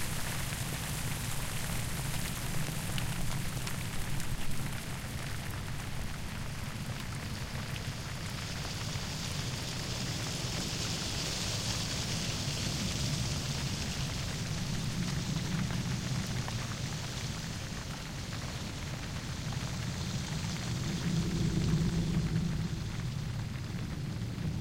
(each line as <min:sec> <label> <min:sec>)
0:12.8 windy, brief storm 0:24.6